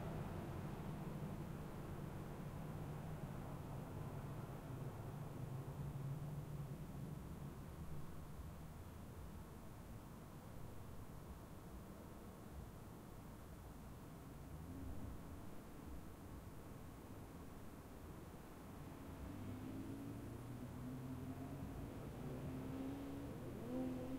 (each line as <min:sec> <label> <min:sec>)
0:00.0 Traffic noise of vehicles driving by 0:24.1